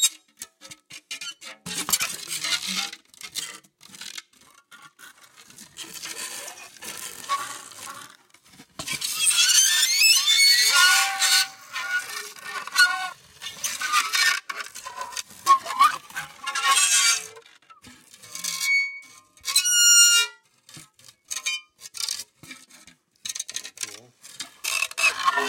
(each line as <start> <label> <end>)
0.0 Dry Ice coming in contact with various metals 25.4